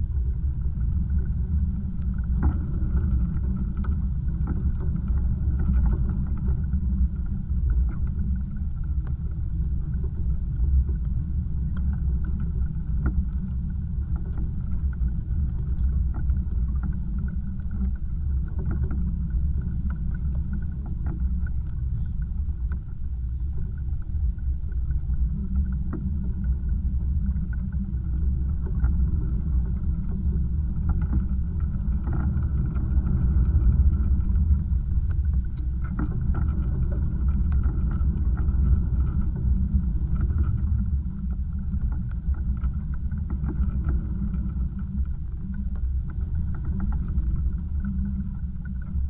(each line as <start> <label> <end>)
0.0 contact microphone on a pile of sea debris 49.0